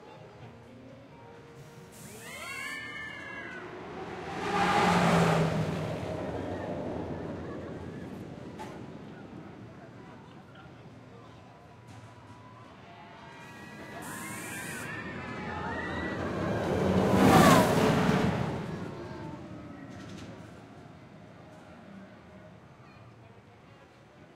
roller coaster launch 0:01.9 - 0:22.6

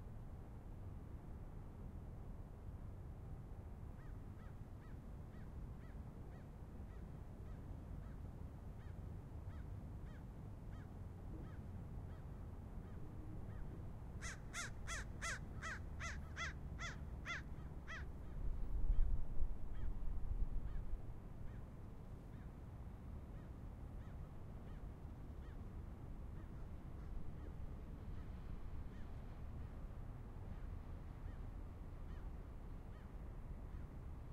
Wind 0:00.0 - 0:34.3

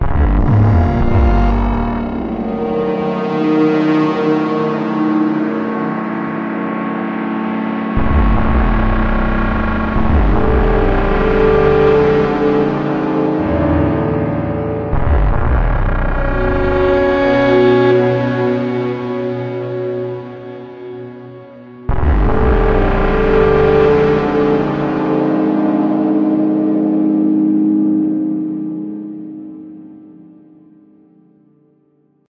strings 0:00.0 - 0:30.7
piano 0:00.0 - 0:32.2
beat 0:00.0 - 0:02.6
beat 0:08.0 - 0:12.6

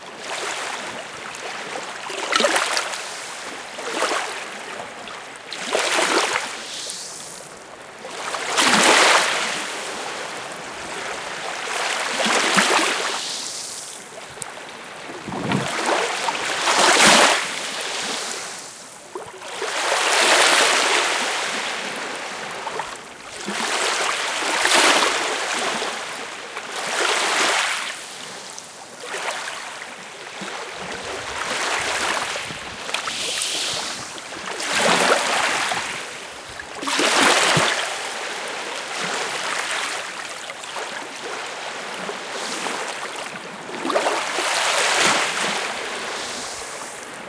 sea 0:00.0 - 0:47.2

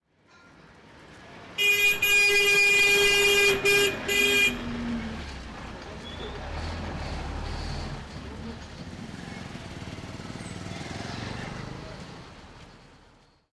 auto horn honk 0:01.6 - 0:04.8

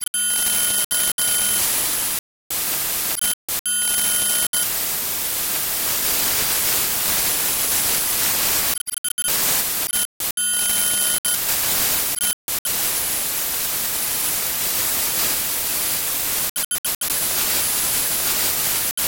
distorted communication link with static dips in sound 0:00.0 - 0:13.7
distorted communication link with static dips in sound 0:14.5 - 0:19.0

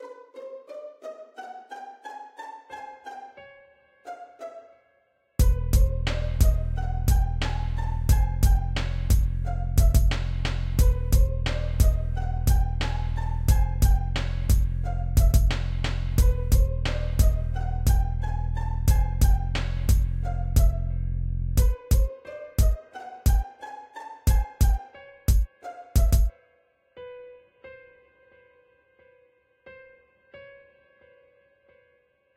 piano samples 0:00.0 - 0:32.3
bass 0:05.4 - 0:22.1
kick 0:08.1 - 0:10.2
kick 0:13.5 - 0:18.0
kick 0:18.9 - 0:20.8
kick 0:24.3 - 0:26.3

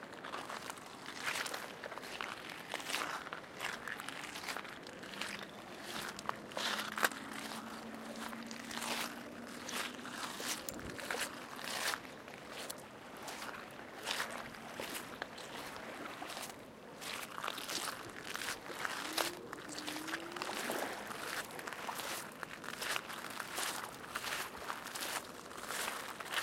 river 0:00.0 - 0:26.4
walking on stones 0:00.2 - 0:26.4

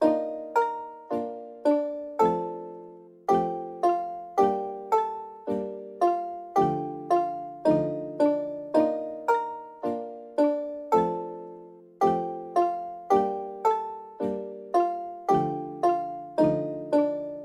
song 0:00.0 - 0:17.4

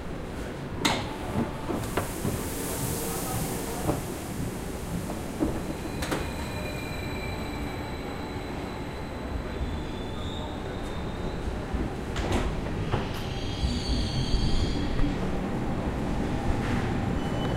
passenger train 0:00.0 - 0:17.5
train door sounds 0:00.8 - 0:07.7

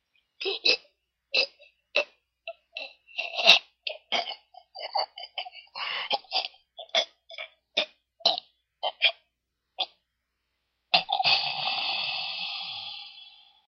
man choking or being strangled 0:00.4 - 0:10.0
man choking or being strangled 0:11.0 - 0:13.2

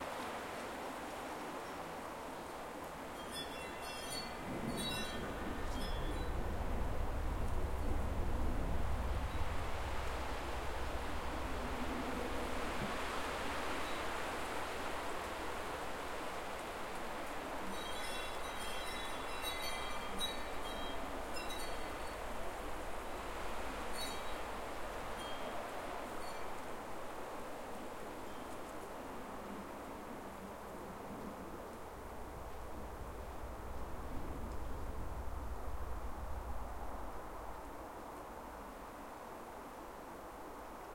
Tree leaves hissing in a strong wind 0:00.0 - 0:40.9
windchimes 0:03.1 - 0:06.6
windchimes 0:17.6 - 0:27.2
windchimes 0:28.1 - 0:28.7

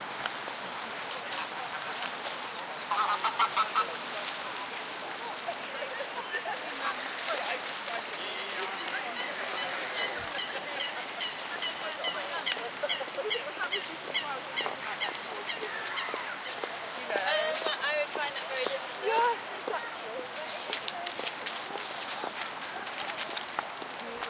People 0:00.2 - 0:24.2
Birds 0:00.3 - 0:18.8
Ducks 0:02.8 - 0:04.3
Ducks 0:08.6 - 0:16.8

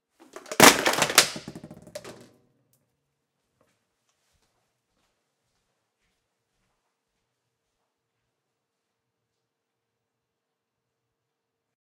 food cans being dropped 0:00.2 - 0:02.3

